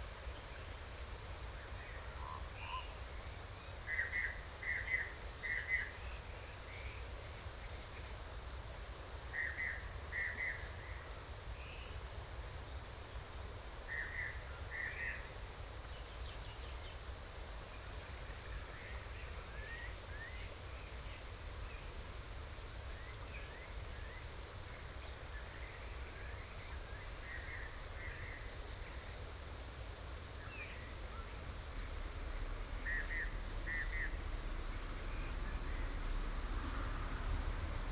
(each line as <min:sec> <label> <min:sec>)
0:00.0 Cicadas sound 0:37.9